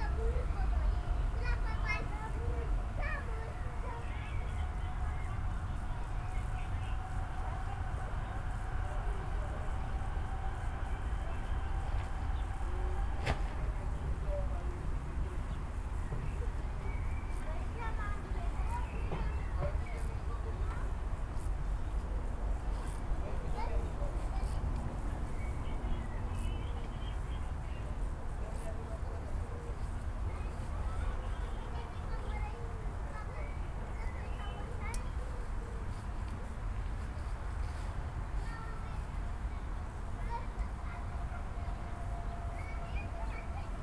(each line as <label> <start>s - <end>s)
children are playing 0.0s - 11.2s
children are playing 16.2s - 22.0s
children are playing 28.6s - 43.8s